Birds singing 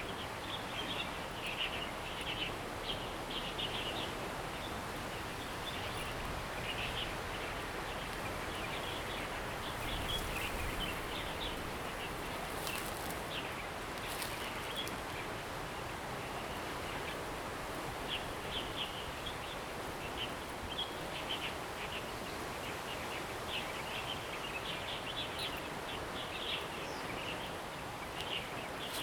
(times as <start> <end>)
8.4 14.9